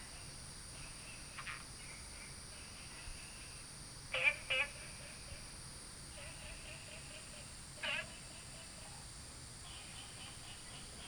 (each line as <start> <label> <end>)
0.0 Frogs chirping 8.7